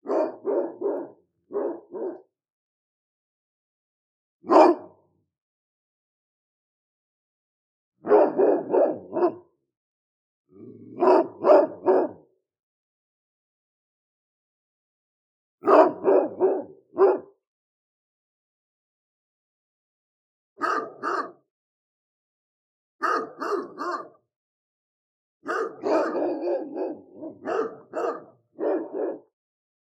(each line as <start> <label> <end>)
0.0 Barking of a dog 2.3
4.4 Barking of a dog 5.0
8.0 Barking of a dog 9.5
10.6 Barking of a dog 12.3
15.6 Barking of a dog 17.4
20.6 Barking of a dog 21.4
20.6 second dog 21.3
23.0 second dog 24.1
23.0 Barking of a dog 24.2
25.4 Barking of a dog 29.3
25.5 second dog 29.2